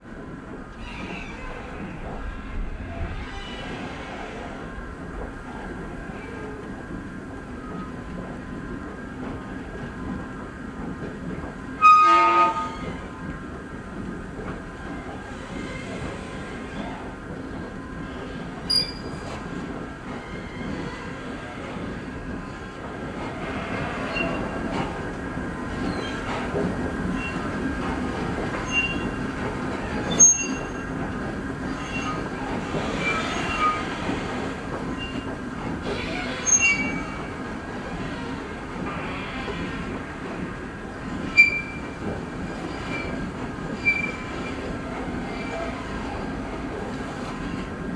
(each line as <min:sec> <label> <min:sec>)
0:00.1 escalator from street level to the elevated tramway squeaks and groans 0:47.9